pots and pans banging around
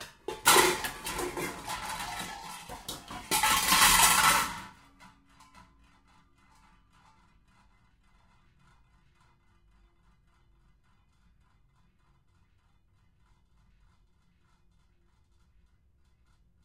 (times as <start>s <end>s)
0.0s 5.8s